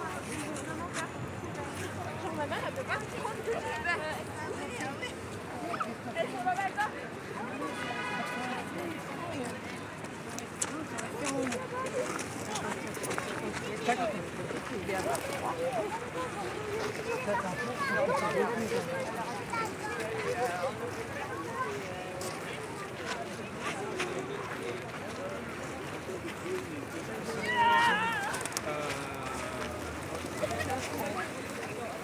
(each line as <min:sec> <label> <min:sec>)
0:00.0 tourists waiting in front of the Notre-Dame cathedral 0:32.0
0:27.3 doves 0:32.0